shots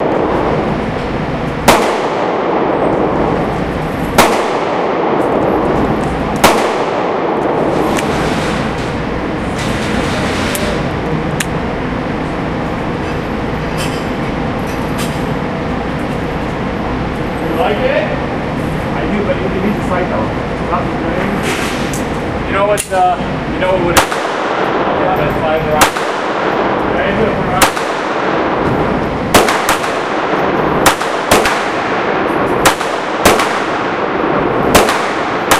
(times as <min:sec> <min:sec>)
0:01.6 0:10.8, 0:23.8 0:25.1, 0:25.7 0:35.5